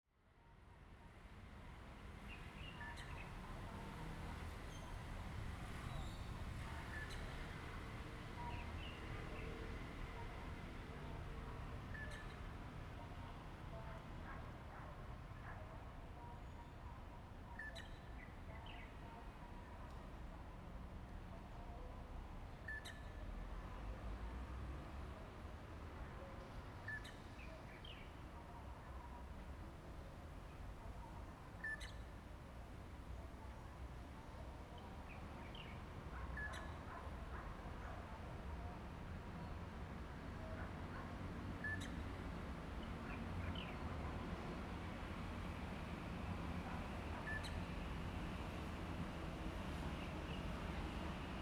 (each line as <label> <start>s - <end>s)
train runs through 39.2s - 51.4s